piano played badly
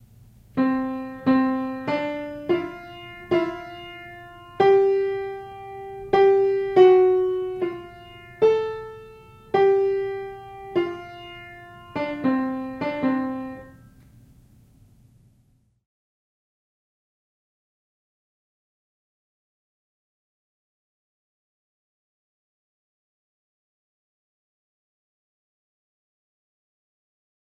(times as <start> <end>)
0.6 13.8